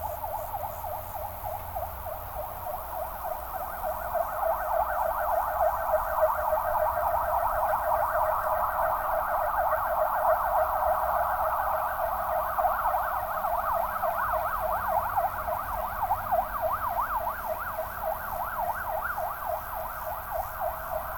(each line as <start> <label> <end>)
0.0 crickets 21.1
0.0 gentle wind 21.1